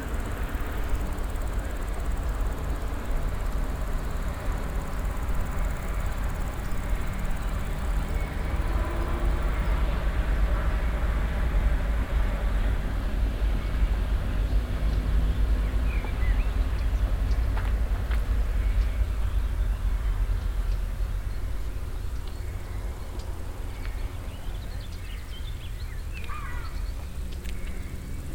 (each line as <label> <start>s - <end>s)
crickets in the nearby grass area 0.0s - 9.8s
motorbikes in the distant 0.0s - 9.9s
constant traffic 0.0s - 28.3s
crickets in the nearby grass area 15.8s - 28.3s